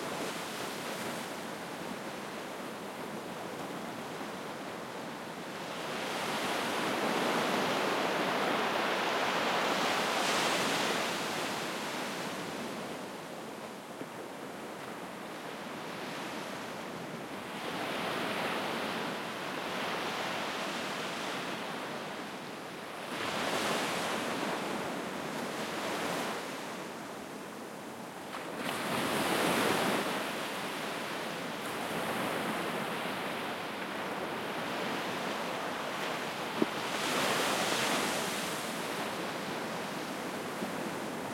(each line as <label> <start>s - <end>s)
wind 0.0s - 41.3s